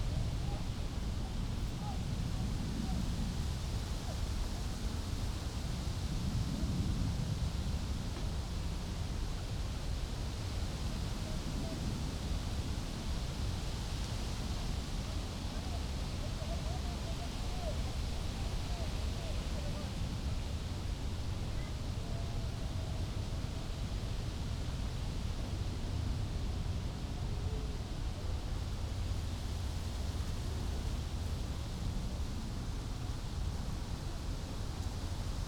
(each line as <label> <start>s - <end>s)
wind 0.0s - 35.4s